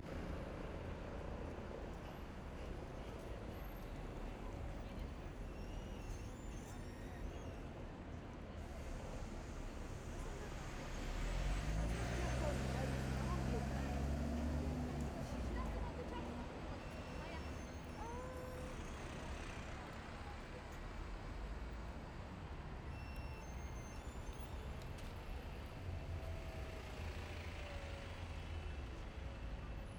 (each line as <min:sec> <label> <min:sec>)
0:00.0 Buses 0:29.9
0:00.0 Cars 0:29.9